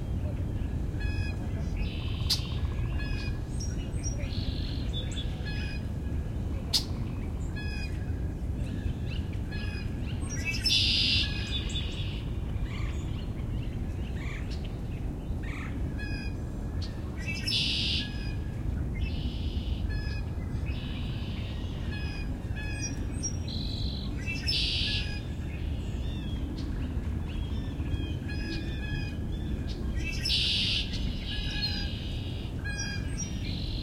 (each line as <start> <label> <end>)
0.0 Northern Cardinal 33.8
0.0 wind rustling through the trees 33.8
1.0 Song Sparrow 5.8
8.7 Red-winged Blackbird 14.8
8.8 Song Sparrow 26.7
19.0 Red-winged Blackbird 33.8
27.3 Song Sparrow 33.8